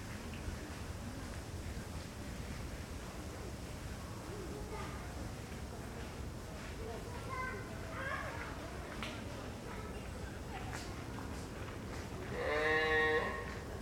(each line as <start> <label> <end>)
12.3 tourist sheep 13.7